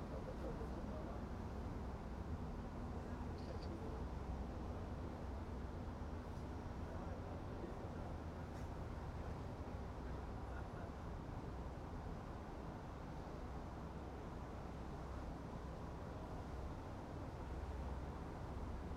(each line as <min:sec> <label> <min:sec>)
0:00.0 Boat Ride On Spree 0:18.9